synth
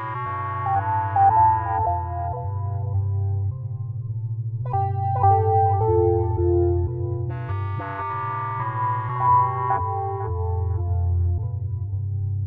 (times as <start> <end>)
4.7 11.6